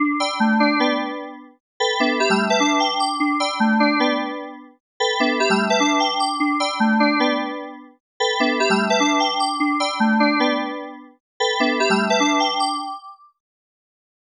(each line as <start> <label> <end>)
0.0 music 13.0